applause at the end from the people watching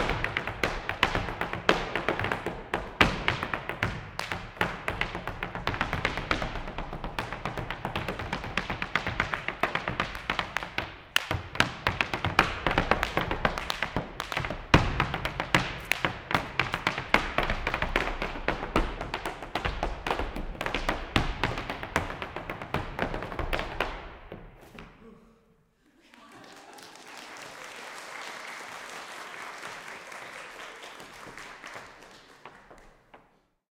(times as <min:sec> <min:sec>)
0:26.1 0:33.1